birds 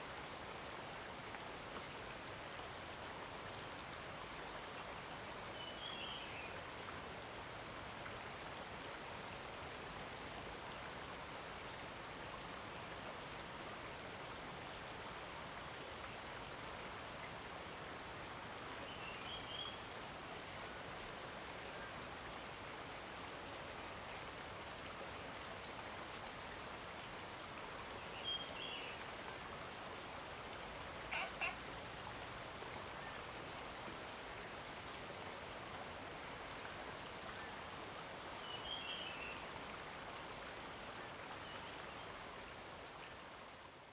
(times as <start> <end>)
31.1 32.4